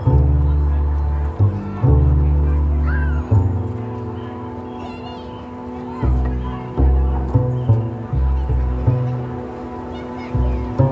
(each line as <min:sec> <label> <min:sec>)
0:00.0 playing bass 0:04.7
0:05.9 playing bass 0:10.9